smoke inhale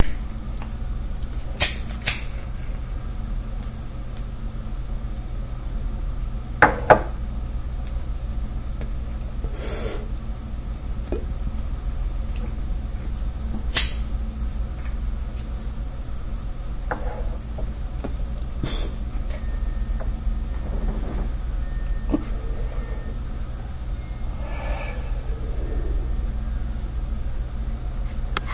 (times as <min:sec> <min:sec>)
0:09.4 0:10.2, 0:18.6 0:19.0, 0:24.2 0:26.3